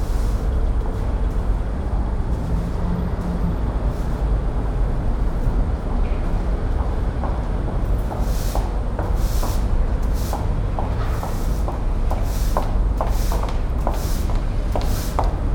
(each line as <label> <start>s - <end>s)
street sweeper 0.0s - 6.7s
street sweeper 7.3s - 15.5s